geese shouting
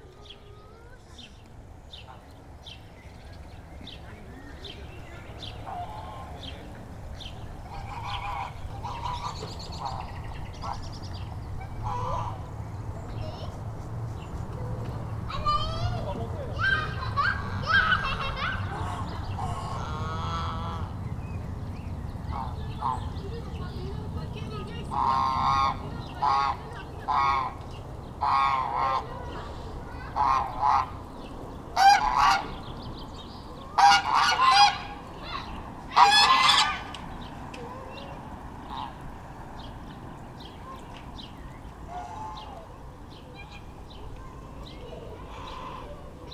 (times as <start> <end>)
5.3 6.6, 7.6 12.5, 15.3 21.0, 22.3 23.5, 24.6 32.7, 33.6 37.2, 38.6 39.1, 41.8 43.7, 45.0 46.3